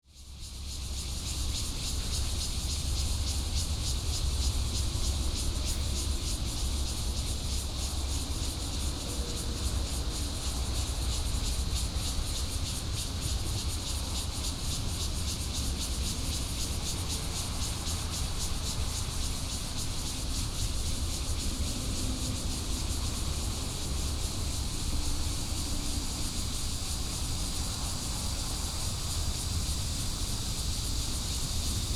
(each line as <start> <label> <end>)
0.1 Cicada cry 31.9
15.5 traffic sound 31.9